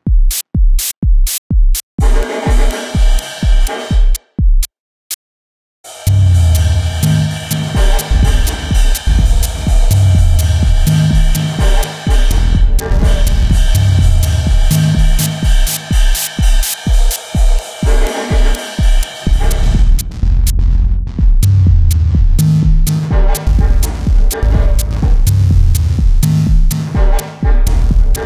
roomy drumbreaks 0:00.0 - 0:04.6
hi hats 0:00.0 - 0:04.7
bass 0:05.9 - 0:15.8
hi hats 0:05.9 - 0:28.2
roomy drumbreaks 0:05.9 - 0:28.2
bass 0:19.2 - 0:28.2

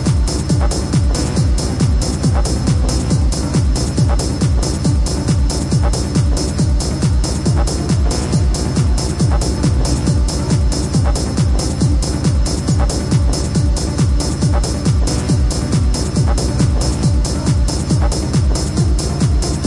club music 0:00.0 - 0:19.6

